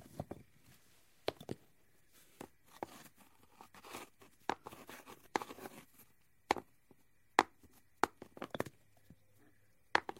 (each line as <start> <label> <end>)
7.4 dropping them on softball sized rocks 8.8
9.9 dropping them on softball sized rocks 10.1